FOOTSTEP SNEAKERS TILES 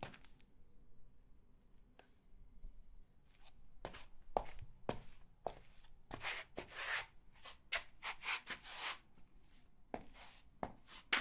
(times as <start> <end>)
10.0 11.2